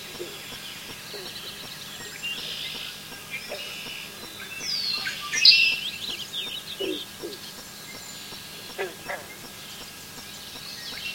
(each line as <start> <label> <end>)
0.0 birds 11.1
0.0 frogs 11.1
0.0 insects 11.1